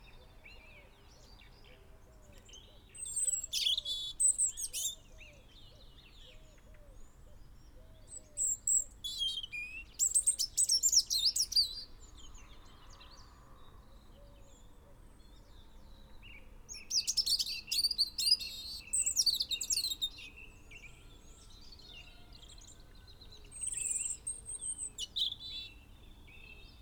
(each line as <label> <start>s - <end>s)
blackbird 0.0s - 13.2s
blackbird 14.2s - 26.8s
pheasant 16.4s - 26.8s